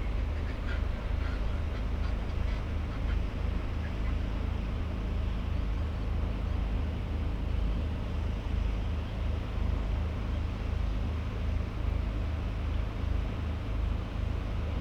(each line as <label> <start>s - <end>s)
herring gull 0.0s - 4.4s